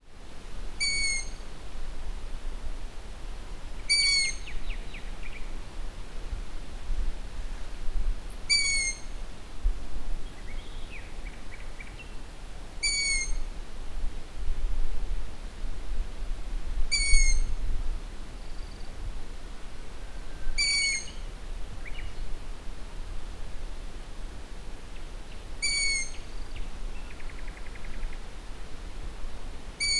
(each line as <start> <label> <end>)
0.8 song of a Common Nightingale 1.6
0.8 begging calls from a Long-eared Owl 1.4
0.8 nocturnal calls from a Common Moorhen 1.5
3.8 song of a Common Nightingale 5.6
3.8 nocturnal calls from a Common Moorhen 4.8
3.9 begging calls from a Long-eared Owl 4.6
8.3 song of a Common Nightingale 9.2
8.5 begging calls from a Long-eared Owl 9.1
8.5 nocturnal calls from a Common Moorhen 9.2
10.2 song of a Common Nightingale 13.5
12.8 nocturnal calls from a Common Moorhen 13.5
12.8 begging calls from a Long-eared Owl 13.4
16.8 song of a Common Nightingale 19.2
16.9 begging calls from a Long-eared Owl 17.5
16.9 nocturnal calls from a Common Moorhen 17.6
20.0 nocturnal calls from a Common Moorhen 22.0
20.0 song of a Common Nightingale 22.4
20.5 begging calls from a Long-eared Owl 21.2
24.9 song of a Common Nightingale 28.5
25.6 begging calls from a Long-eared Owl 26.3
25.6 nocturnal calls from a Common Moorhen 26.3
29.7 song of a Common Nightingale 29.9
29.8 nocturnal calls from a Common Moorhen 29.9
29.8 begging calls from a Long-eared Owl 29.9